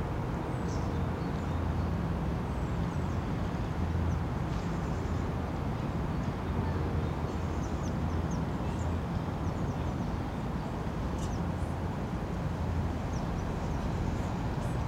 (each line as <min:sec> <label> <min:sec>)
0:00.0 city's drone 0:14.8